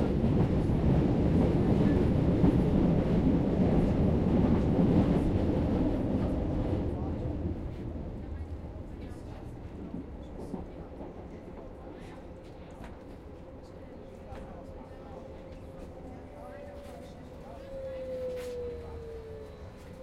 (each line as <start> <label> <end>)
0.0 noise from the tracks 20.0
0.0 tram stops and starts again 20.0
6.0 people are talking 20.0